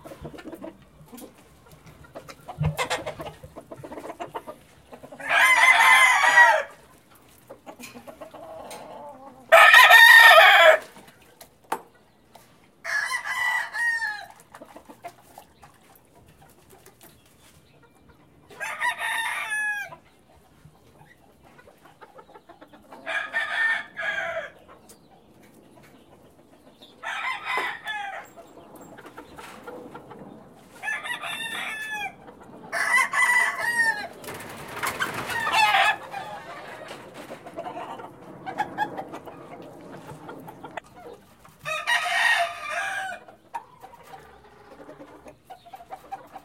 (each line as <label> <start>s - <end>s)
roosters 0.0s - 46.4s